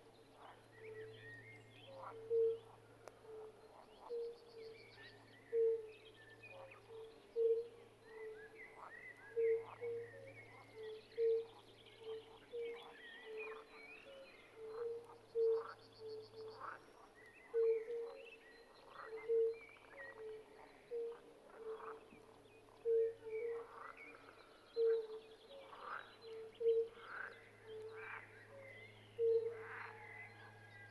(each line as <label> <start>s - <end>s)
Fire-bellied toads (Bombina Bombina) singing 22.8s - 28.6s
Fire-bellied toads (Bombina Bombina) singing 29.2s - 30.1s